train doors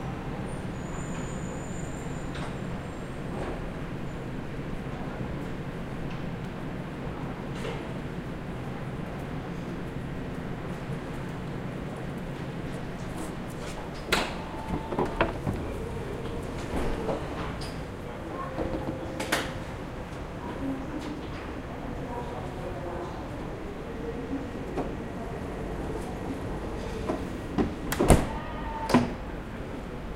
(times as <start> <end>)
0.5 4.4, 12.3 20.4, 25.8 29.8